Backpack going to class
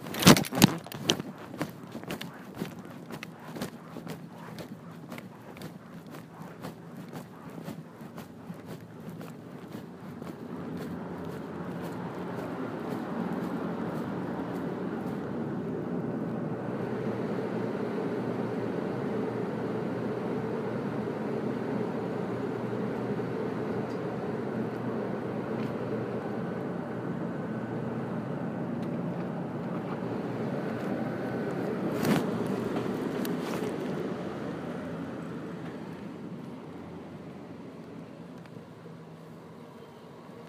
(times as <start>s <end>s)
0.0s 16.3s, 29.7s 37.0s